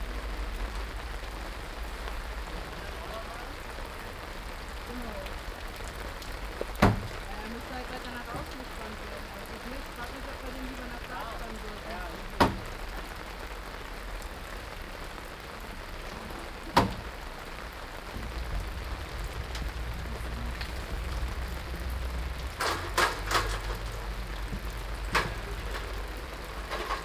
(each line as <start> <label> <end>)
0.0 rain 27.0
15.1 construction 27.0